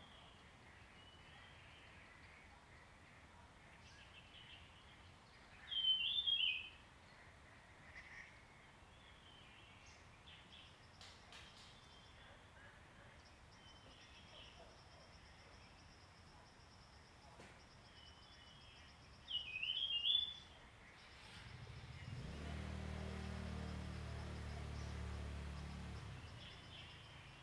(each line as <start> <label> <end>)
17.9 Bird sounds 27.4